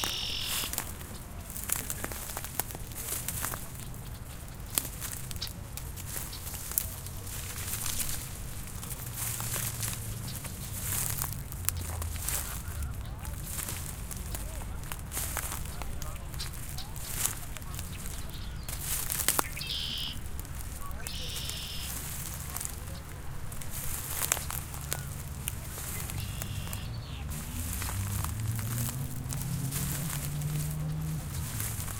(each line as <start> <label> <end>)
0.0 Walking on dried out plants 31.9
0.0 birds 31.9